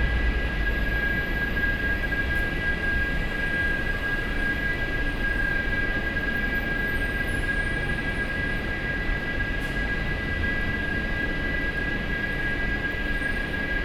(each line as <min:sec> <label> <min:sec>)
0:00.0 air conditioning noise 0:04.6